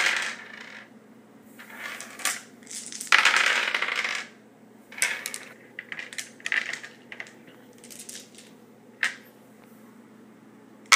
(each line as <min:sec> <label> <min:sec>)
0:00.0 various dice rolling on a wood surface 0:00.9
0:01.6 various dice rolling on a wood surface 0:09.2